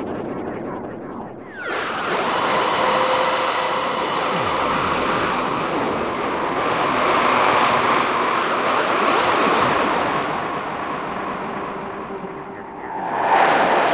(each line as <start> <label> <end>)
0.0 drone 13.9